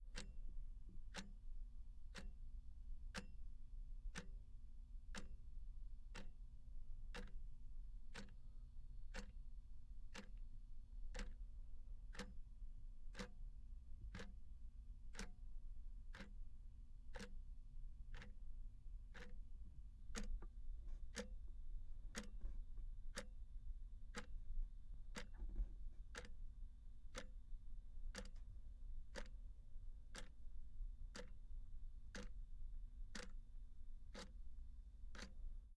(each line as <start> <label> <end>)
0.1 Clock Ticking 0.4
1.1 Clock Ticking 1.3
2.1 Clock Ticking 2.4
3.1 Clock Ticking 3.4
4.1 Clock Ticking 4.3
5.1 Clock Ticking 5.4
6.1 Clock Ticking 6.4
7.1 Clock Ticking 7.4
8.1 Clock Ticking 8.4
9.1 Clock Ticking 9.4
10.1 Clock Ticking 10.4
11.1 Clock Ticking 11.5
12.1 Clock Ticking 12.4
13.1 Clock Ticking 13.4
14.0 Clock Ticking 14.4
15.1 Clock Ticking 15.4
16.1 Clock Ticking 16.4
17.1 Clock Ticking 17.4
18.1 Clock Ticking 18.4
19.1 Clock Ticking 21.4
22.1 Clock Ticking 22.5
23.1 Clock Ticking 23.4
24.1 Clock Ticking 24.4
25.1 Clock Ticking 26.5
27.1 Clock Ticking 27.4
28.1 Clock Ticking 29.5
30.1 Clock Ticking 30.4
31.0 Clock Ticking 31.5
32.1 Clock Ticking 32.4
33.1 Clock Ticking 33.4
34.0 Clock Ticking 34.5
35.1 Clock Ticking 35.4